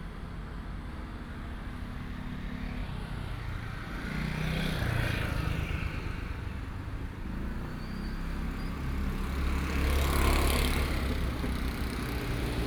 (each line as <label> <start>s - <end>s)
Traffic Sound 8.2s - 12.6s